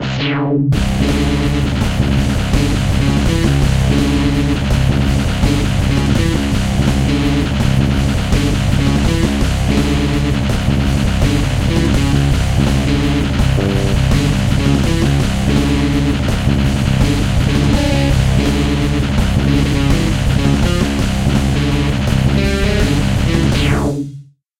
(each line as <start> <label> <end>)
0.0 guitar 24.0